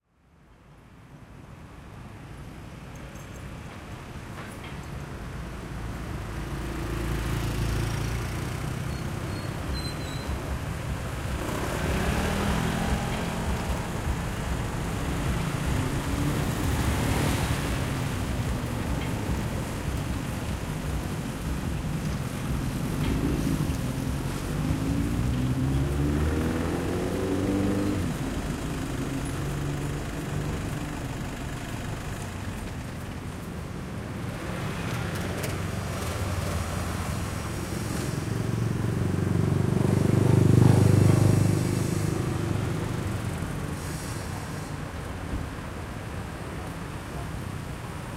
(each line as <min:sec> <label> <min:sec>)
0:00.8 cars 0:48.1
0:03.2 Motorbikes 0:48.1